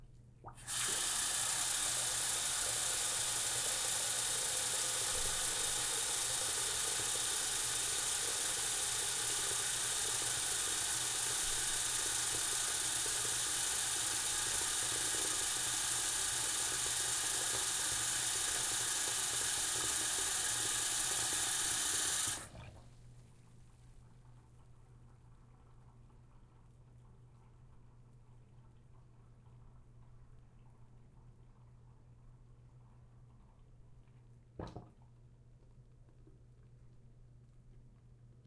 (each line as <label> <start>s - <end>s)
sink running water 0.5s - 22.7s